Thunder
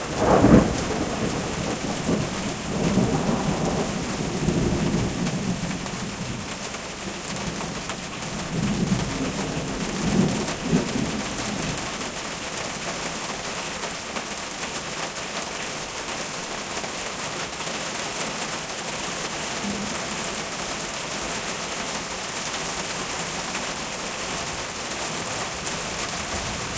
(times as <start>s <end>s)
0.0s 6.5s, 19.6s 20.4s, 25.9s 26.7s